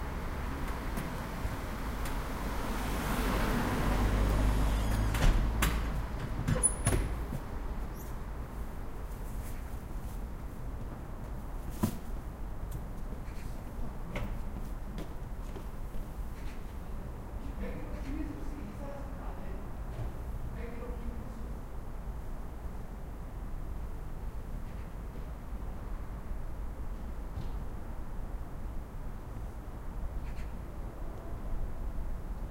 trucks 0.0 - 8.4
cars 0.0 - 8.9
birds 13.1 - 13.7

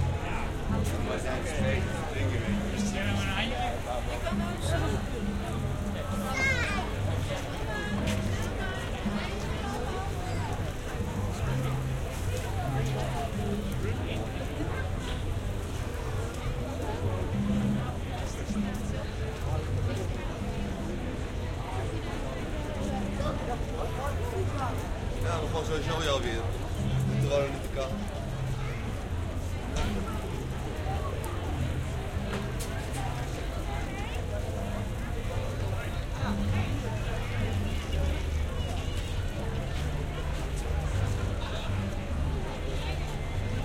crowd noise 0.0 - 43.6
music 0.0 - 43.6

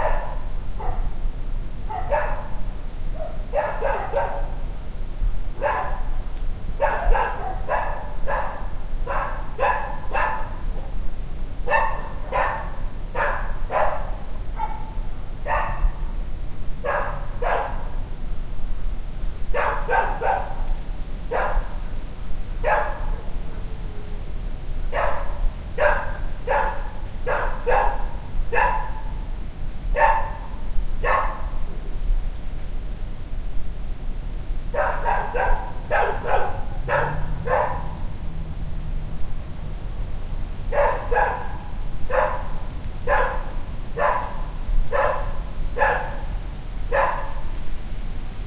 Dogs 0.0 - 1.2
Dogs 1.9 - 2.6
Dogs 3.2 - 4.6
Dogs 5.6 - 6.1
Dogs 6.8 - 11.0
Dogs 11.7 - 16.0
Dogs 16.8 - 17.9
Dogs 19.5 - 21.8
Dogs 22.6 - 23.7
Dogs 24.9 - 29.1
Dogs 30.0 - 31.6
Dogs 34.7 - 38.1
Dogs 40.7 - 46.3
Dogs 46.9 - 47.5

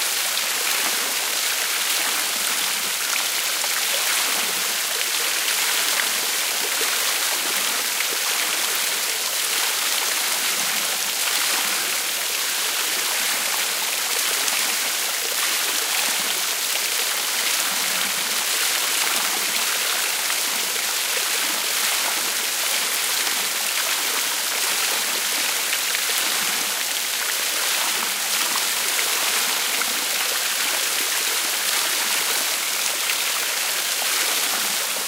small water fall 0.0 - 35.0

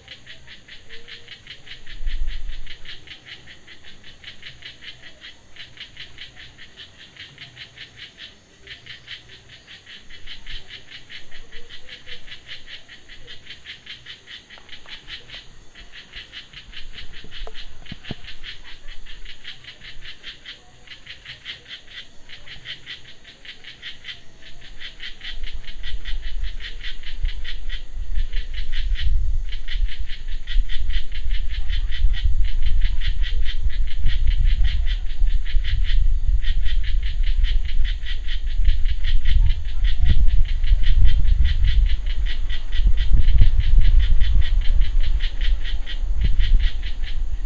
cicadas kicking up a crazy beat 0.0 - 47.4

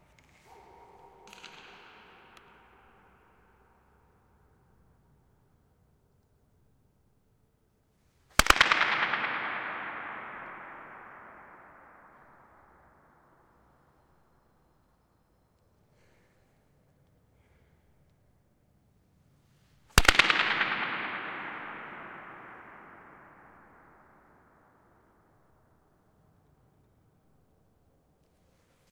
claps 0.0 - 3.2
claps 8.4 - 12.4

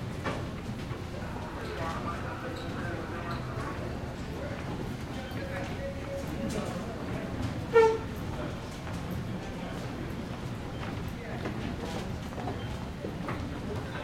people 1.1 - 14.0

